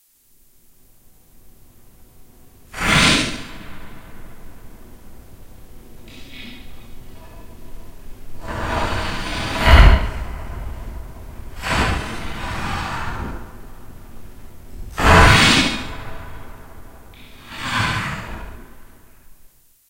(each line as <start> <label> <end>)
8.4 hilt hitting home 17.1